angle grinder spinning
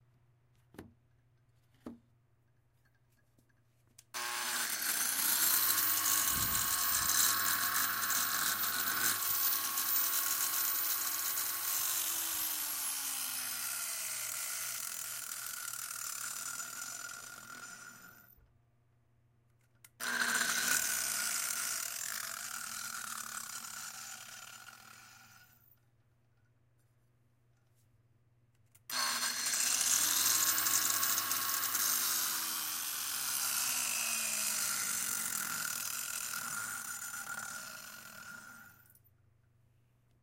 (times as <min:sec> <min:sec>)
0:04.2 0:18.3, 0:20.0 0:25.6, 0:28.9 0:39.0